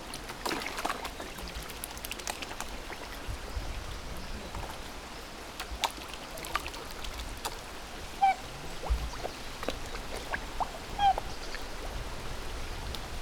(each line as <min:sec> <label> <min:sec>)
0:08.2 black swans playing about and wailing 0:11.7